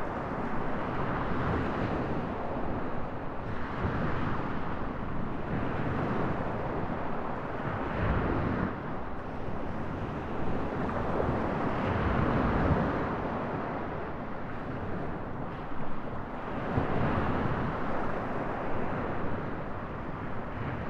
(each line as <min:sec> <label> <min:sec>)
0:00.0 Mediterranean Sea on the beach 0:20.8